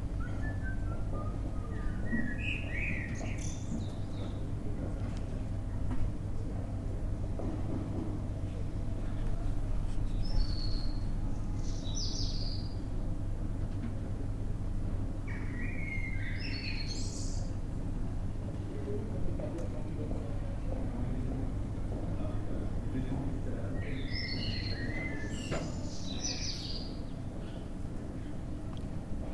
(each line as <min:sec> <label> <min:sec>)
0:00.0 traffic noise in the distance 0:29.3
0:00.1 birds 0:04.9
0:00.1 voices 0:12.3
0:10.1 birds 0:12.9
0:15.2 birds 0:17.6
0:15.3 voices 0:29.3
0:23.5 birds 0:28.5